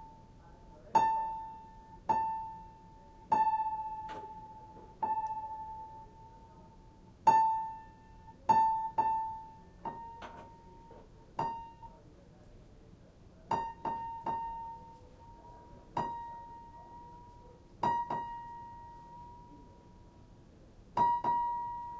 0.0s tuning piano 12.1s
13.4s tuning piano 21.9s

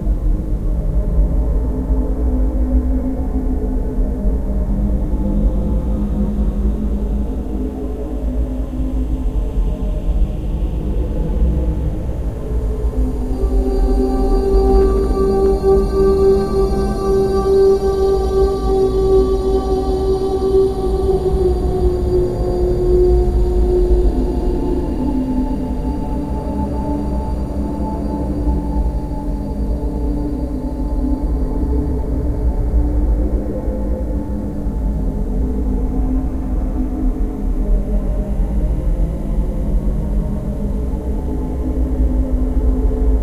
11.3s old mystic Engine 32.6s

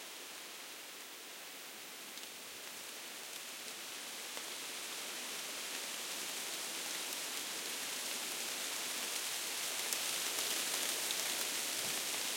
0.0s wind through aspens 12.3s

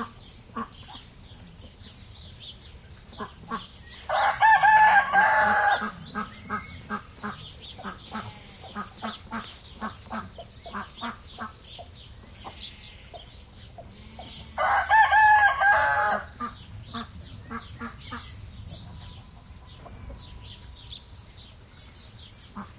0.0s birds 22.7s
3.1s chicken 20.7s
4.1s rooster 6.6s
14.2s rooster 16.4s

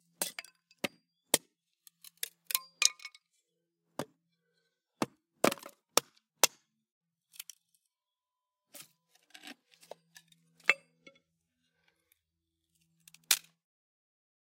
5.0s chop 6.7s
8.7s axe handling 11.2s

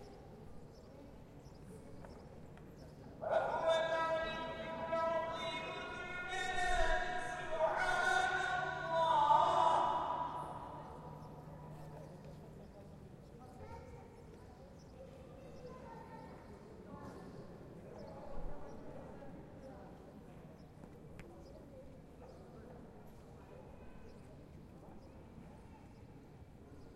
2.9s call to prayer 12.3s
3.2s Walla 11.9s

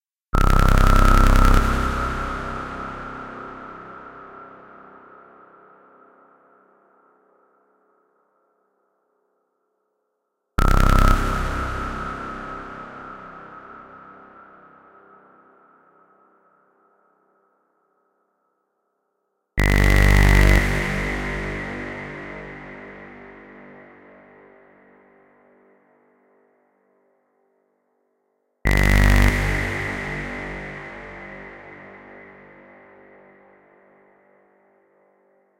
0.4s low cinematic squelch bass 4.4s
10.6s low cinematic squelch bass 14.4s
19.6s low cinematic squelch bass 23.8s
28.7s low cinematic squelch bass 32.9s

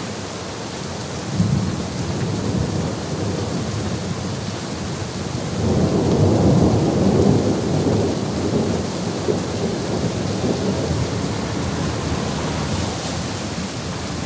0.0s Rain 14.2s
5.5s thunder 12.5s

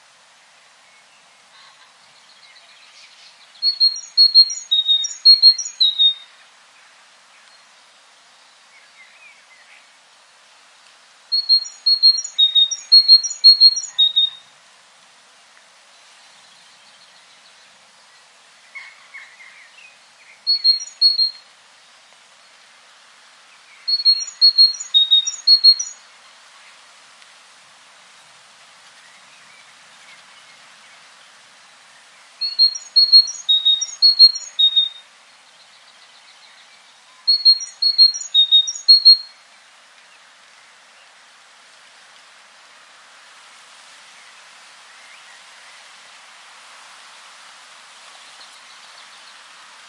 3.7s Great Tit twittering its song 6.2s
11.4s Great Tit twittering its song 14.3s
23.9s Great Tit twittering its song 26.0s
32.4s Great Tit twittering its song 35.0s
37.3s Great Tit twittering its song 39.2s

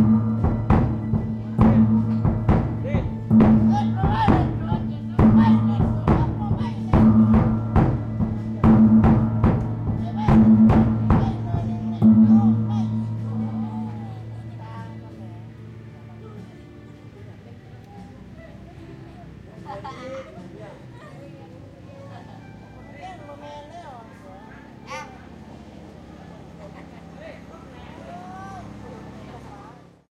0.0s drum 14.4s
0.0s gong 15.4s
0.0s people talk in the background 30.1s

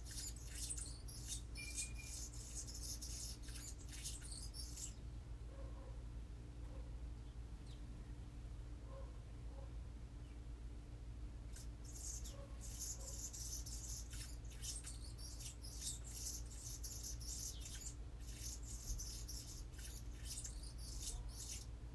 0.0s Hummingbird Bully Raspy Song 5.0s
11.5s Hummingbird Bully Raspy Song 21.8s

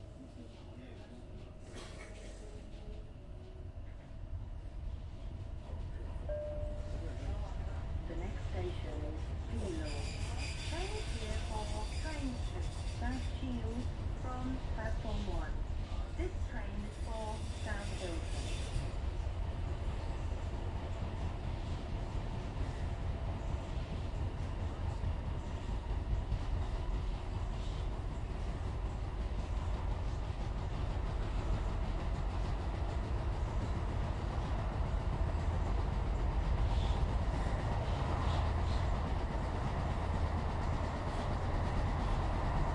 0.0s train arrives at overground station 42.7s

